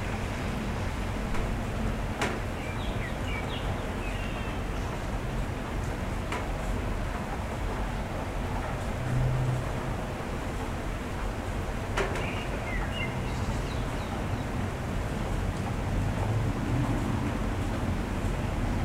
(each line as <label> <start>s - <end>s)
Rain 0.0s - 18.8s
Wind 0.0s - 18.8s